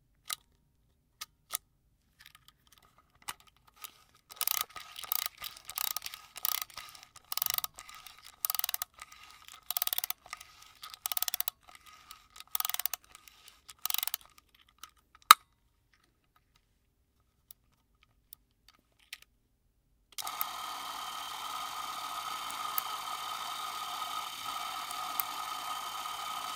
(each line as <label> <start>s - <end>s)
8mm film camera 3.8s - 14.3s
8mm film camera 20.2s - 26.5s